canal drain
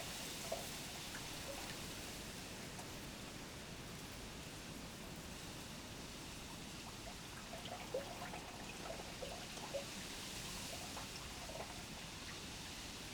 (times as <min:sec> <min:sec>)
0:10.5 0:12.4